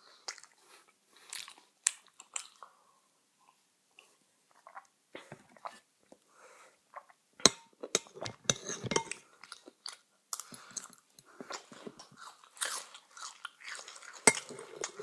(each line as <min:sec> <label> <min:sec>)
0:00.1 eating cereal 0:02.8
0:07.5 spoon 0:09.2
0:08.0 eating cereal 0:15.0
0:14.2 spoon 0:15.0